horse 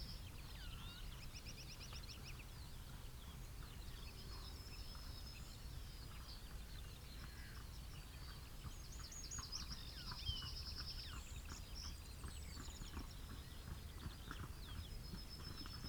6.1 15.8

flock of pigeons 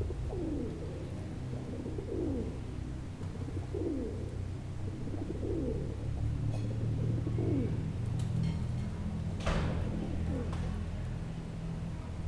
0.0 8.3, 9.5 10.9

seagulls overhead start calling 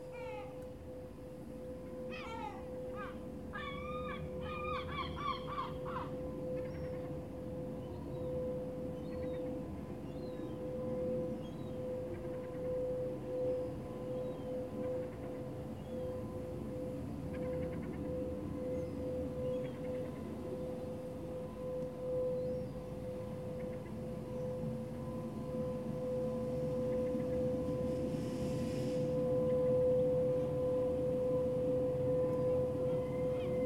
2.1 7.1

